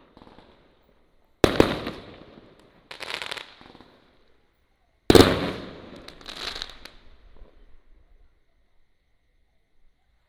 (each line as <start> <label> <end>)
0.0 Fireworks 4.4
0.0 firecrackers 4.5
5.1 Fireworks 7.9
5.1 firecrackers 8.1